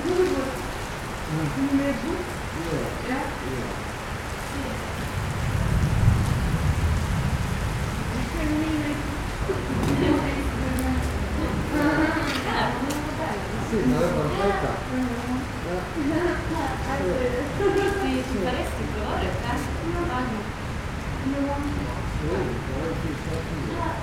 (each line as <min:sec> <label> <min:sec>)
0:00.0 rain 0:24.0
0:07.0 People gathering in front the covered entrance 0:24.0